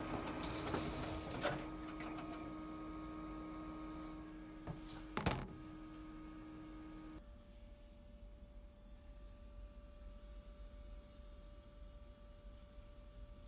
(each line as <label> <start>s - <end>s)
INDUSTRIAL COPY PRINTER 0.0s - 6.7s